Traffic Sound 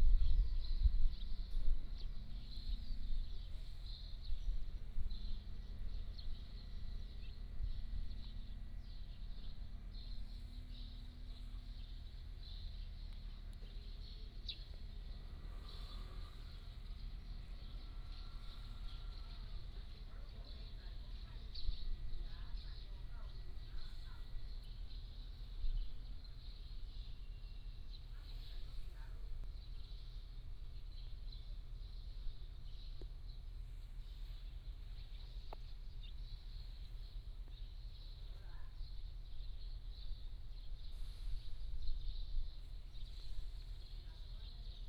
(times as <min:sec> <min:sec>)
0:09.7 0:21.5